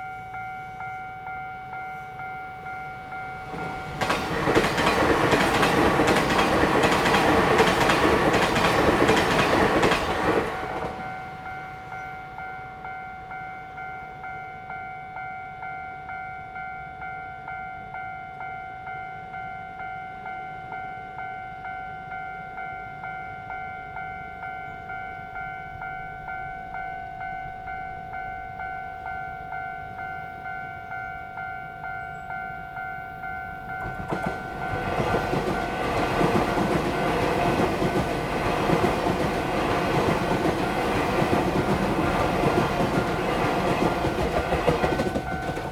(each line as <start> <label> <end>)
0.0 The train runs through 45.7